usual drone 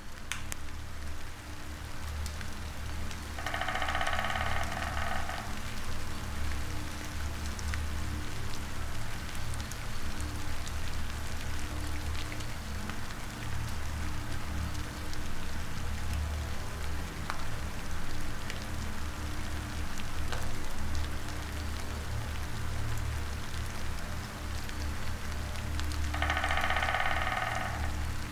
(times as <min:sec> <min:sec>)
0:03.4 0:05.8, 0:26.1 0:28.3